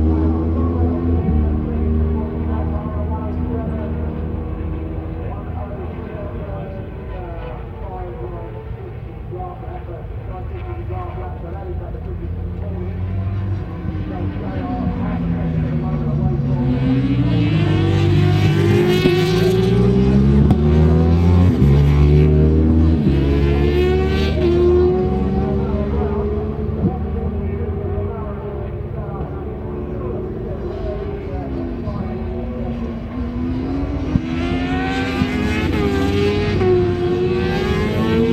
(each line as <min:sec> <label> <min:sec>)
0:00.1 commentary 0:38.3